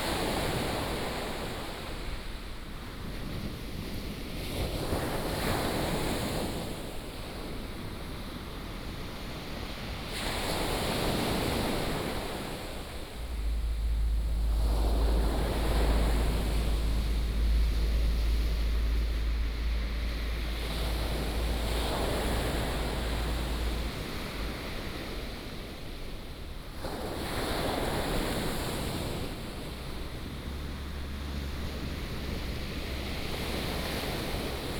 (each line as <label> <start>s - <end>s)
waves 0.0s - 34.7s
traffic sound 12.1s - 25.4s